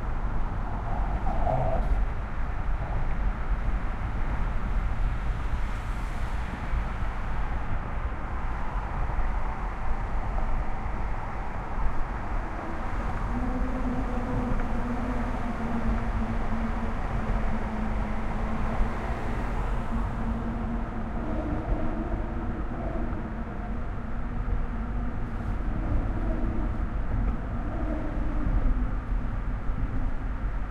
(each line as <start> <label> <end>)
0.0 traffic 30.7